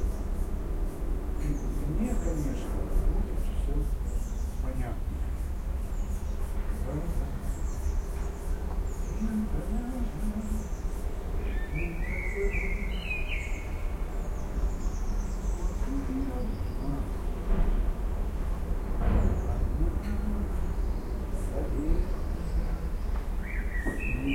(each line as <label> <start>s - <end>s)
Birds 0.0s - 24.3s
neighbor singing some tunes 9.1s - 13.5s